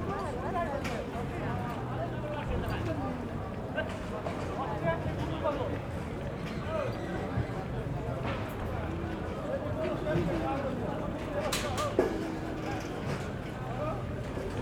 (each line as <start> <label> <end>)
0.0 pedestrians 14.6